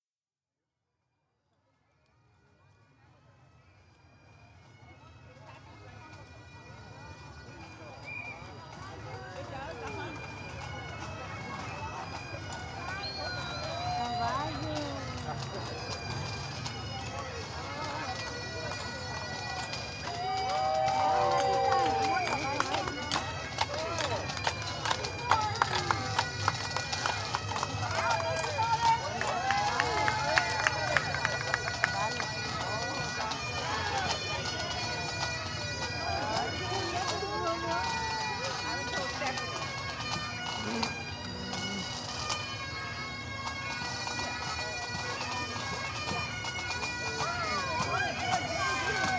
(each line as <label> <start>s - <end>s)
Pipes and Drums passing our shady spot 5.7s - 49.1s